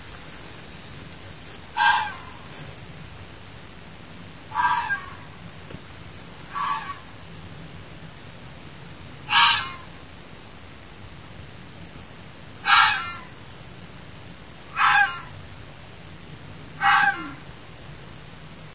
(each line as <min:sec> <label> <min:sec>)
0:01.8 fox call 0:02.5
0:04.5 fox call 0:05.4
0:06.5 fox call 0:07.2
0:09.3 fox call 0:09.9
0:12.6 fox call 0:13.4
0:14.7 fox call 0:15.4
0:16.8 fox call 0:17.5